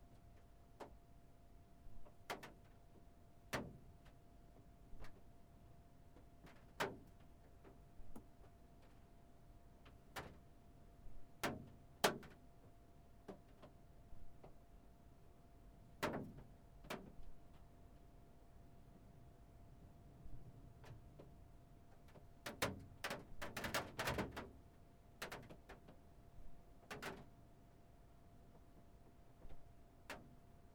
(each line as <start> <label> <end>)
22.0 hailstones and waterdroplets on a van roof 26.0